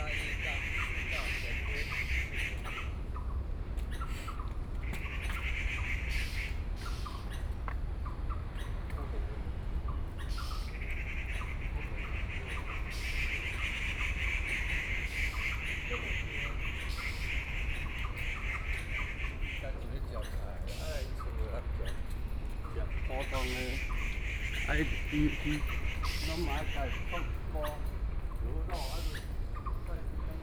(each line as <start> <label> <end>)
0.0 Birdsong 30.4